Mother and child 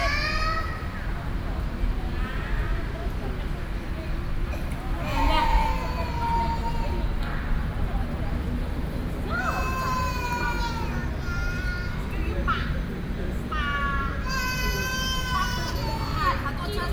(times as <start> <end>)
4.5 7.6, 9.2 12.8